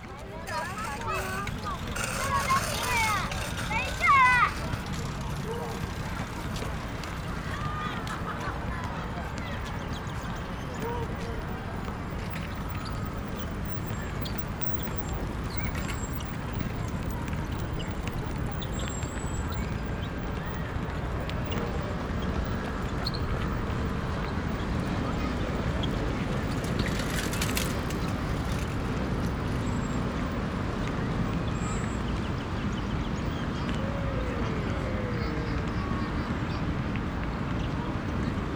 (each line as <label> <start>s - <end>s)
Traffic Noise 0.0s - 38.5s
kids 0.4s - 9.2s